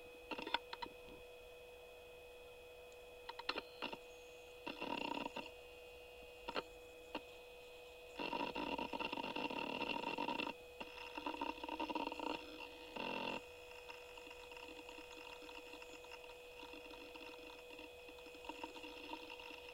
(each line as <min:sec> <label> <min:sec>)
0:00.3 booting g3 ibook 0:00.9
0:03.3 booting g3 ibook 0:04.0
0:08.2 booting g3 ibook 0:19.7